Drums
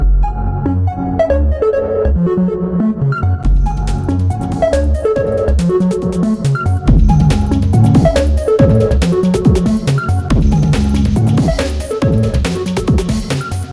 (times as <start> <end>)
3.4 13.7